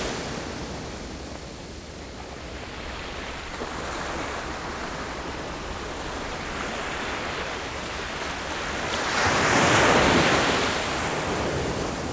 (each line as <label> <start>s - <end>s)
waves 0.0s - 12.1s